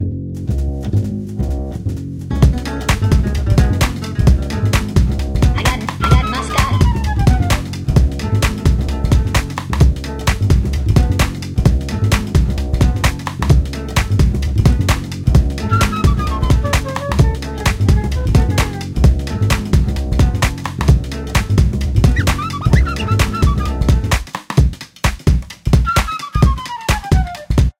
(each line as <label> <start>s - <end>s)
Music 0.0s - 27.7s